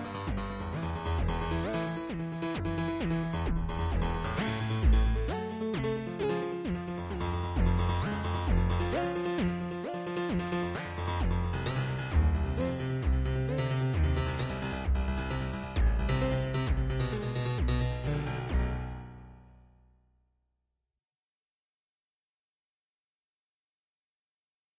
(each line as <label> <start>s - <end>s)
Piano with The Bends 0.0s - 19.8s